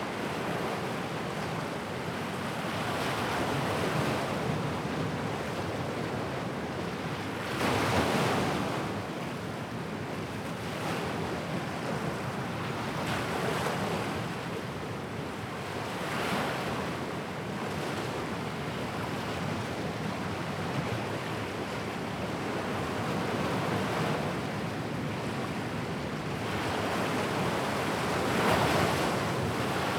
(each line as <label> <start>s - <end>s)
Ocean 0.0s - 29.9s
wind 0.0s - 29.9s